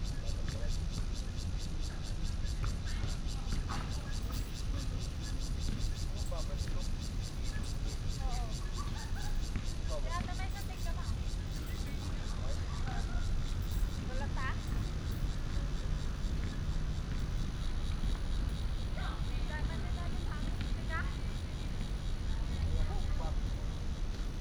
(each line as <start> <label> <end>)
0.0 Cicada cry 24.4
2.6 traffic sound 24.4